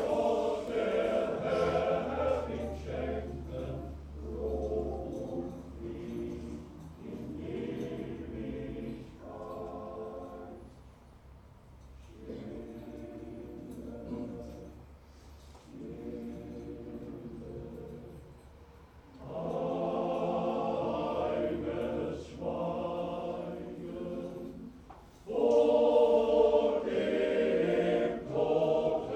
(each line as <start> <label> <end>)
0.0 funeral choir 29.1